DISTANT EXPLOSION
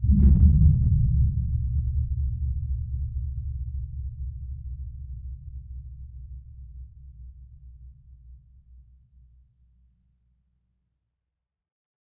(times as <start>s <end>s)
0.0s 1.5s